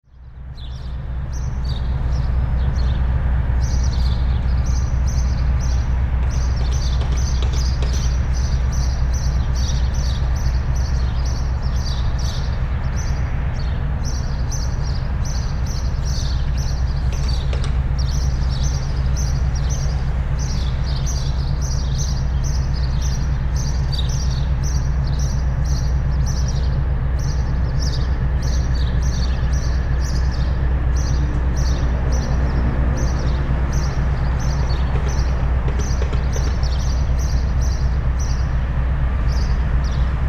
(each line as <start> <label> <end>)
0.2 powerplant drone 40.2